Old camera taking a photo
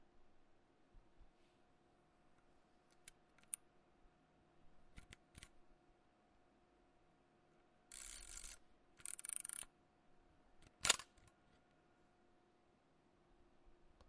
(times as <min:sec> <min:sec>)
0:07.9 0:09.7, 0:10.8 0:11.2